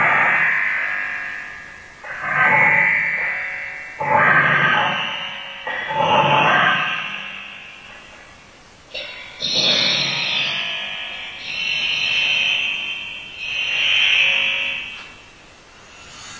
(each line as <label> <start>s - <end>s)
feedback 0.0s - 16.3s